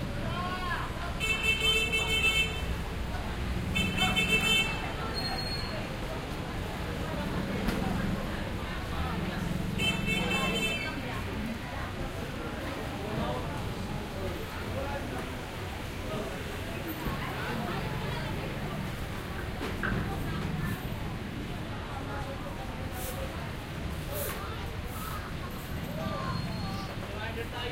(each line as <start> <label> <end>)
0.0 crowd 27.7
0.0 jeepney 27.7
6.1 motorcycle 11.5